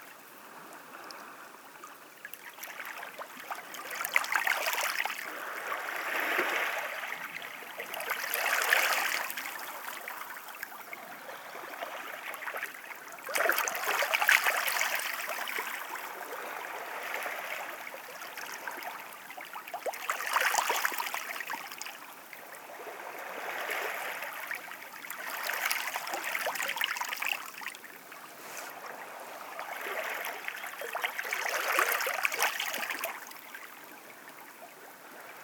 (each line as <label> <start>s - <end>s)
lapping of the waves 25.6s - 33.4s